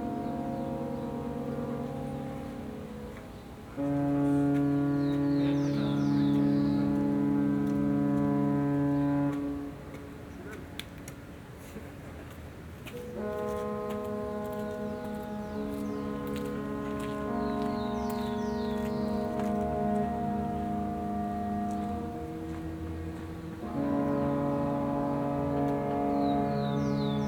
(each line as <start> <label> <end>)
0.0 Ship horns 10.5
0.0 Sounds from the city in background 27.2
12.8 Ship horns 27.2